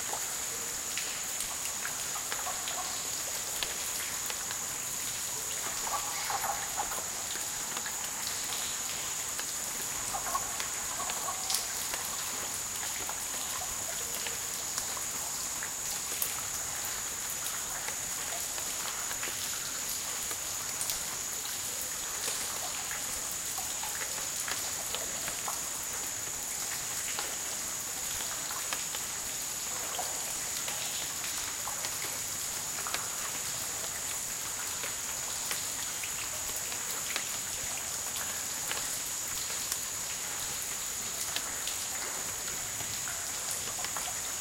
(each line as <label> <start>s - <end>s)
water 0.0s - 44.4s